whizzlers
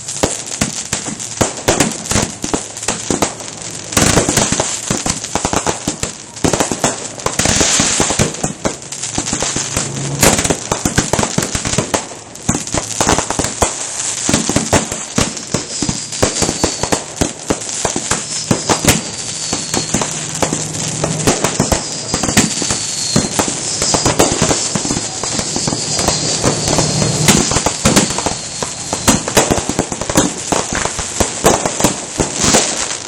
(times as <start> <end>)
15.6 33.0